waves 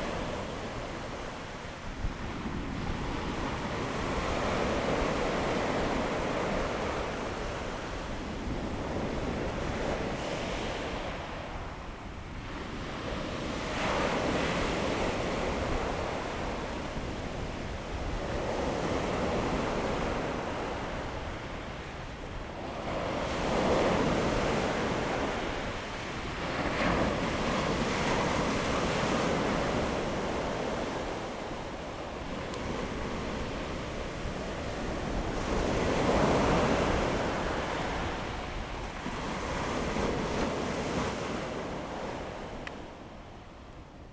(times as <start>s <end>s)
18.1s 43.2s